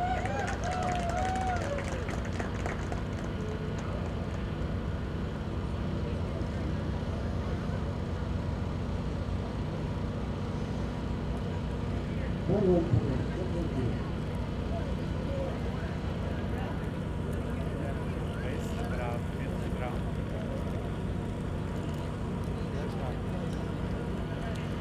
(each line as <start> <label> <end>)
0.0 slowly passing boat 24.8